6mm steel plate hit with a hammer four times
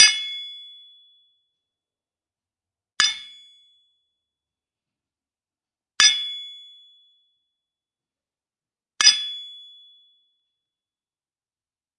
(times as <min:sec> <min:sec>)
0:03.0 0:03.4, 0:09.0 0:09.4